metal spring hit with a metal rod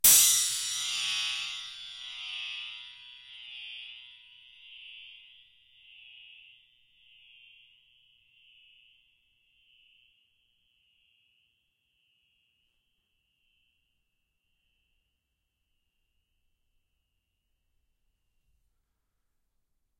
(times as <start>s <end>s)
0.0s 3.1s